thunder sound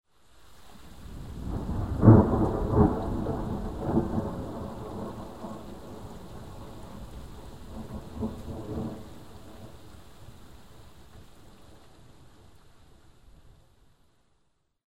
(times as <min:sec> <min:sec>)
0:01.2 0:07.0